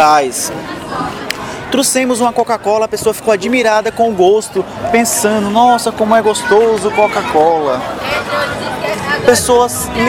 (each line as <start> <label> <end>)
1.7 Crazy tour guide presents the Flexeiras Beach 10.0